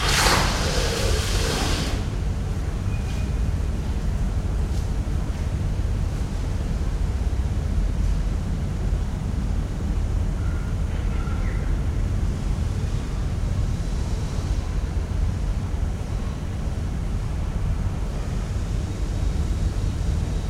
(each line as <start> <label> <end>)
0.0 sweeping the site floor with a broom 2.1